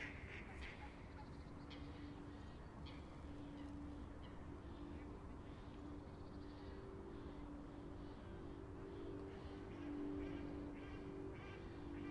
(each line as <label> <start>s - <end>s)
ducks 0.0s - 2.2s
motor glider flew over the park 0.0s - 12.1s
ducks 9.4s - 12.1s